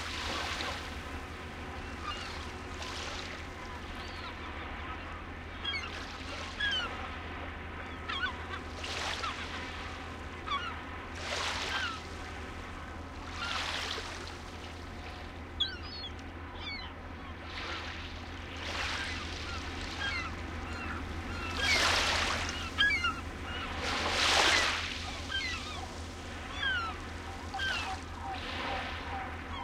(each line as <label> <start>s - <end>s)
waves splashing on the beach 0.0s - 1.2s
seagull screechings 1.7s - 7.0s
seagull screechings 7.8s - 12.1s
seagull screechings 13.2s - 14.6s
seagull screechings 15.6s - 17.0s
waves splashing on the beach 18.6s - 22.9s
seagull screechings 18.7s - 29.6s
waves splashing on the beach 23.5s - 29.6s